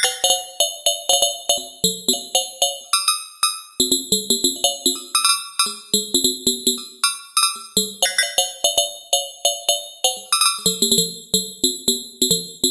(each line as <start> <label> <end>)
0.0 phase modulated mallets 11.0